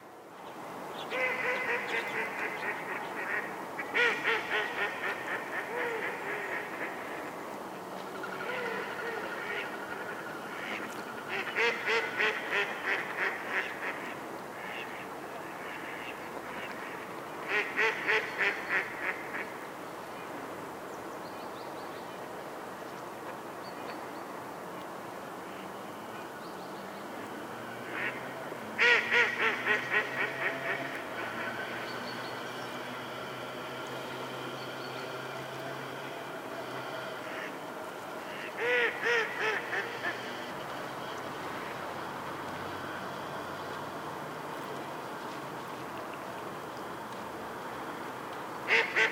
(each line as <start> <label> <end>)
1.1 Mallards 7.4
8.1 Mallards 19.6
27.8 Mallards 43.8
48.6 Mallards 49.1